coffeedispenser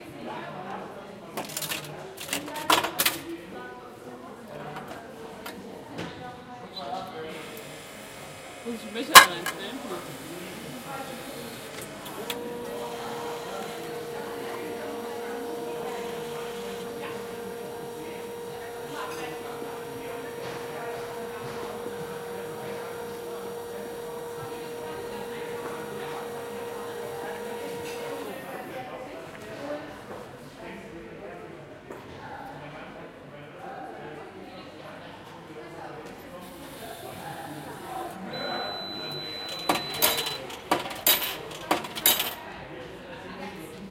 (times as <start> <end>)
6.9 28.8, 36.4 42.4